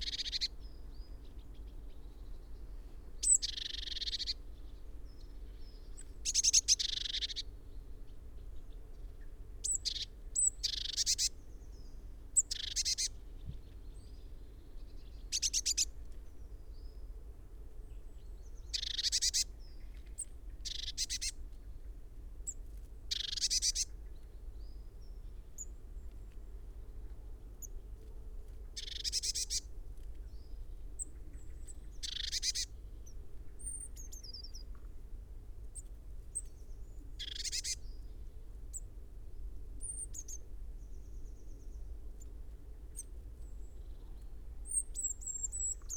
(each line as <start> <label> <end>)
0.0 blackbird 7.5
0.0 bird calls from great tit 0.5
0.0 Blue tit foraging 7.5
3.2 bird calls from great tit 4.4
6.2 bird calls from great tit 7.4
8.1 Blue tit foraging 16.6
8.1 blackbird 17.0
9.6 bird calls from great tit 11.4
12.4 bird calls from great tit 13.1
15.3 bird calls from great tit 15.9
18.0 Blue tit foraging 21.5
18.2 blackbird 21.4
18.7 bird calls from great tit 19.5
22.4 Blue tit foraging 35.0
23.1 bird calls from great tit 23.9
23.1 blackbird 26.3
28.8 bird calls from great tit 29.6
28.8 blackbird 34.8
32.0 bird calls from great tit 32.8
35.6 Blue tit foraging 39.4
35.8 blackbird 38.9
37.2 bird calls from great tit 37.8
42.9 blackbird 45.9